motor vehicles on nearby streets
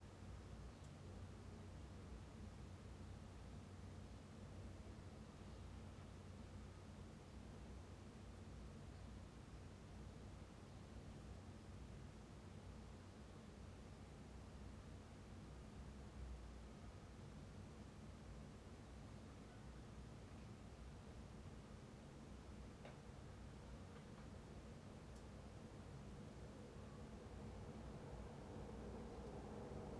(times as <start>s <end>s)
25.6s 29.9s